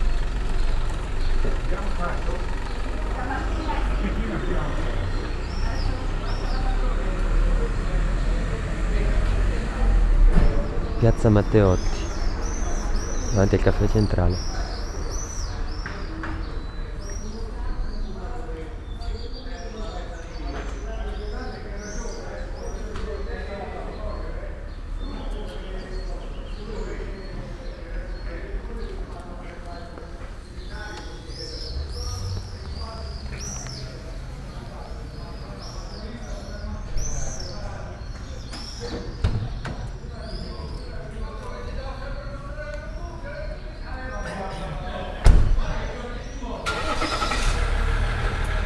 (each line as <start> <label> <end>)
0.0 birds 48.6
1.4 people chatting 48.6
46.7 car passing 48.6